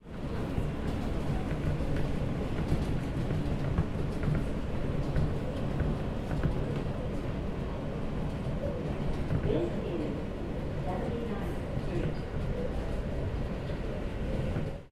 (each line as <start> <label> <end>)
0.0 Subway train 14.9